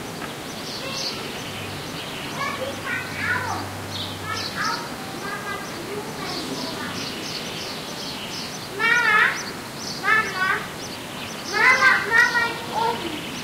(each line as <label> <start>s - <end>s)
kids 0.6s - 13.4s